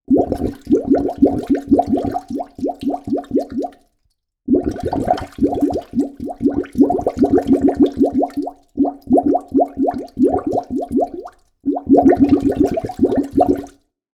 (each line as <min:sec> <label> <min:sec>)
0:00.0 toilet bubbles 0:03.9
0:04.5 toilet bubbles 0:13.8